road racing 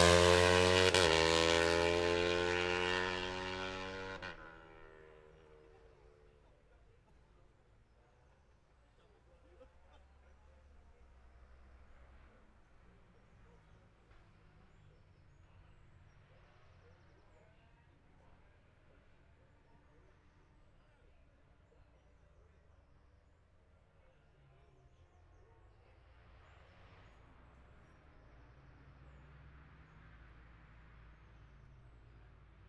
0.0 6.7, 25.5 32.6

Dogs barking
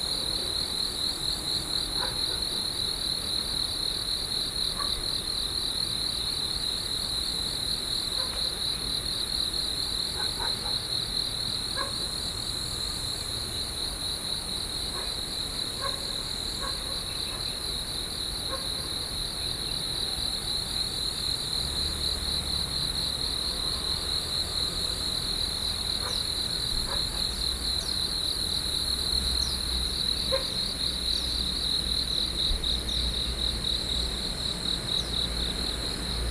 30.3 30.5

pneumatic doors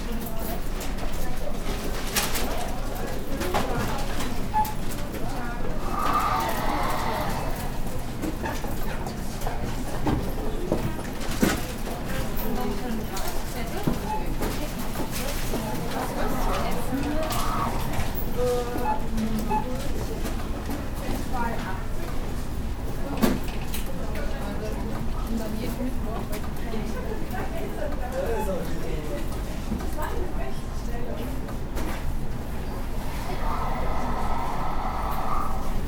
32.9 35.8

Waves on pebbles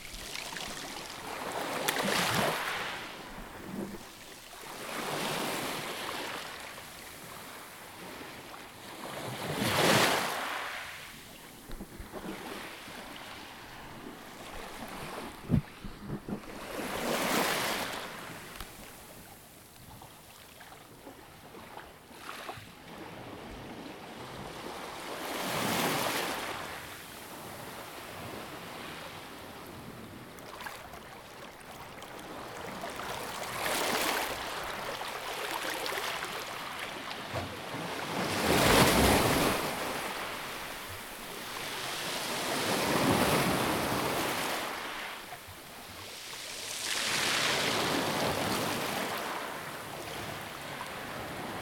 0.0 7.0, 30.4 37.3

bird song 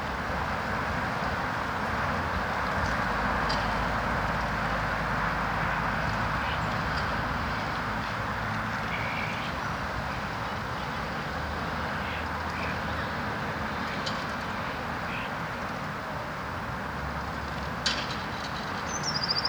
18.9 19.4

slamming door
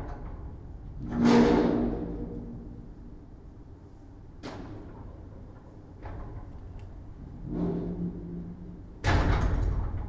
9.0 10.0

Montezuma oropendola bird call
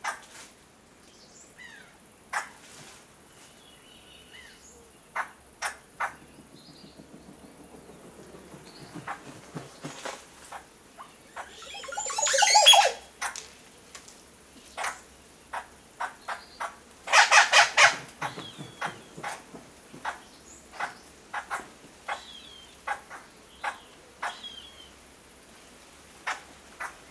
11.0 13.1

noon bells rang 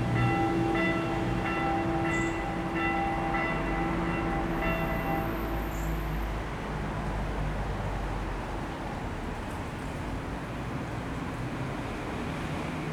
0.0 6.0

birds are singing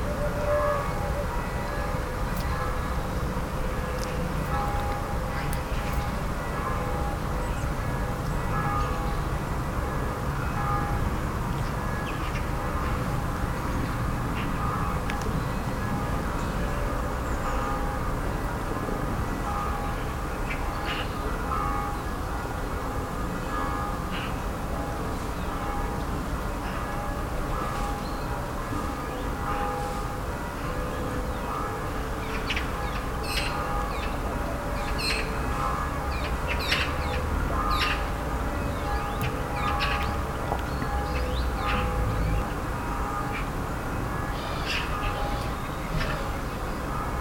27.9 28.4, 32.2 42.7, 44.2 46.8

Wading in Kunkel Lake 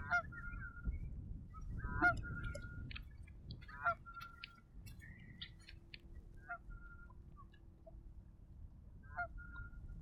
1.5 8.5

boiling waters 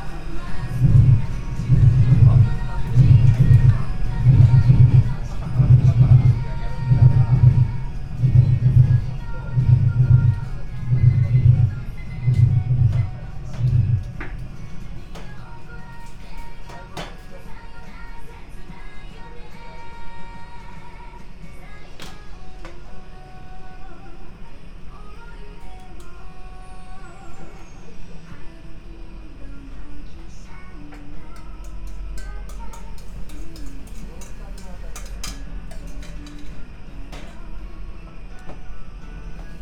0.0 17.1, 30.9 37.4

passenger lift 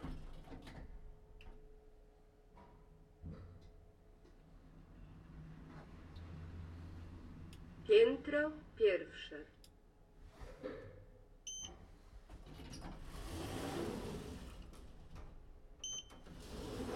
11.6 16.9

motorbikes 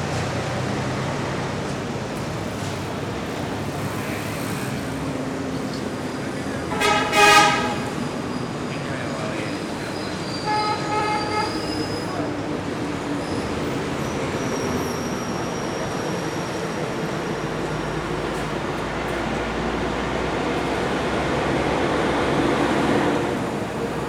0.0 10.2

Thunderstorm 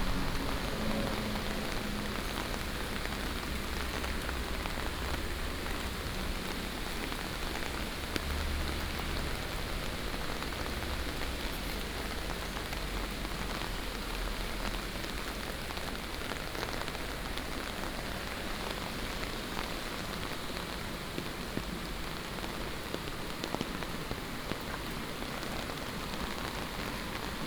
0.0 3.6

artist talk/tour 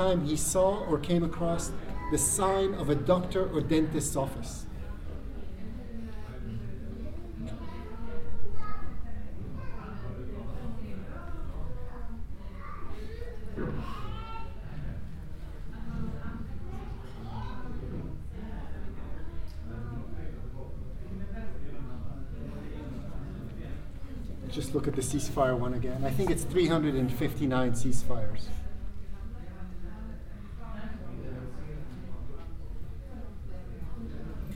0.0 4.7, 24.3 28.6

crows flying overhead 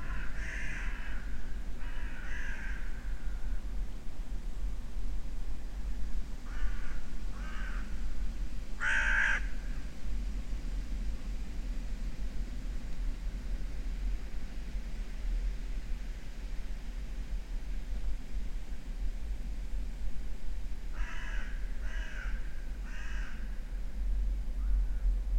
0.0 3.7, 6.4 10.0, 20.8 25.3

